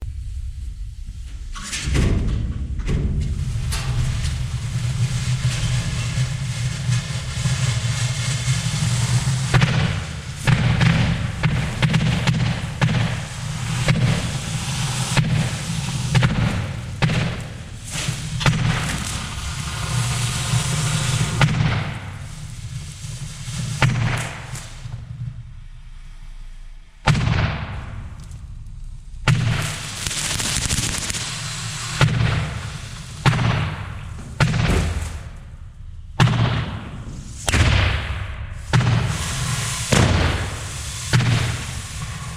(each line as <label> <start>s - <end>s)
door slam 1.6s - 4.4s
Fireworks 3.2s - 25.1s
hissing of the fire shower 3.2s - 25.0s
Fireworks 27.1s - 28.2s
Fireworks 29.2s - 35.6s
hissing of the fire shower 29.3s - 35.5s
Fireworks 36.2s - 42.3s
hissing of the fire shower 38.5s - 42.3s